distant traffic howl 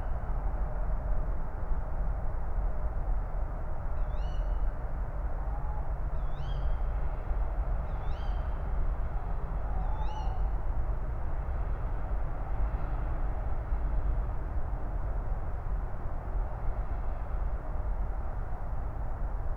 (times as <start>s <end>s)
5.4s 19.5s